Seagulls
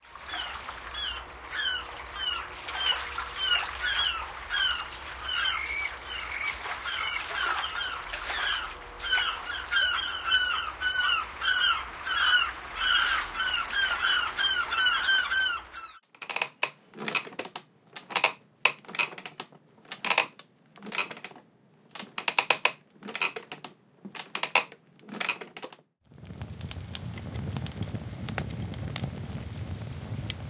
0.2s 16.0s

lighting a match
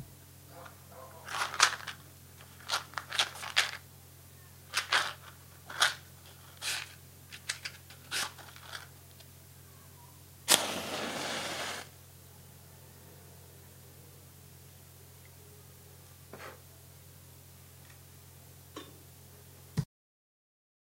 10.5s 11.9s

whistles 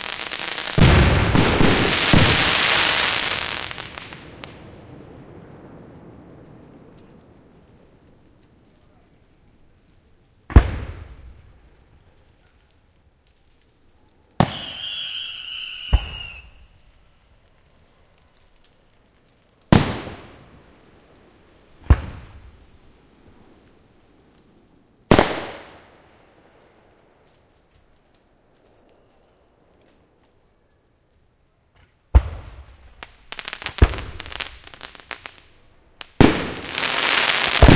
14.4s 16.8s

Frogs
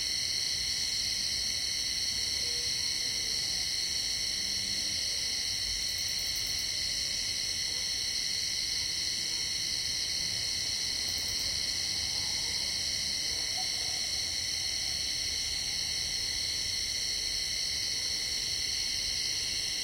10.2s 16.7s

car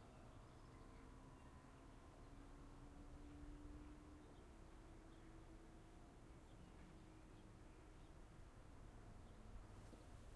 0.0s 7.0s

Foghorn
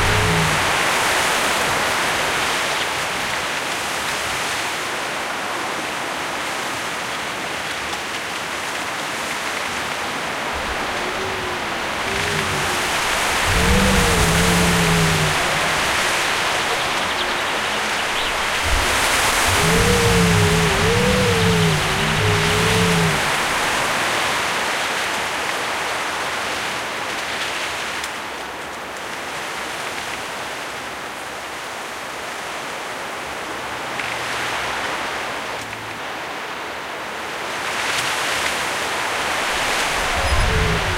10.6s 23.9s, 39.6s 40.9s

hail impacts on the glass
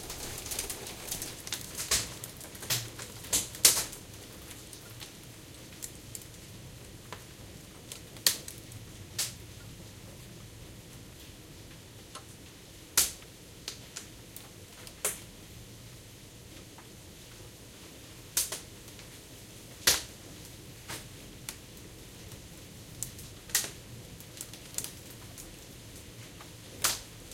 0.0s 3.8s

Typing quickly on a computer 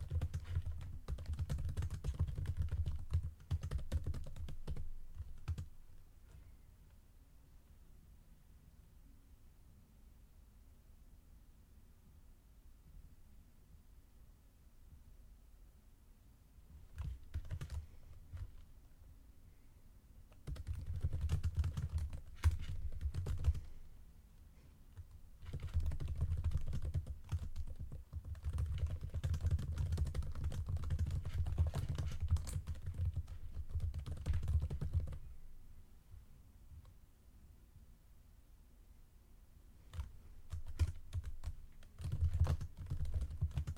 0.0s 5.7s, 16.9s 18.6s, 20.4s 23.7s, 25.0s 35.2s, 39.9s 43.7s

